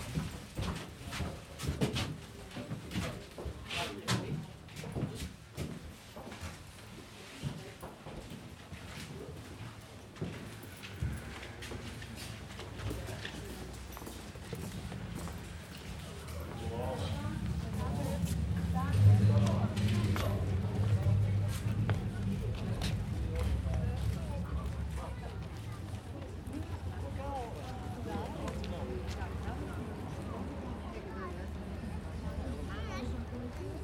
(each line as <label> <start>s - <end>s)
funicular 14.4s - 27.4s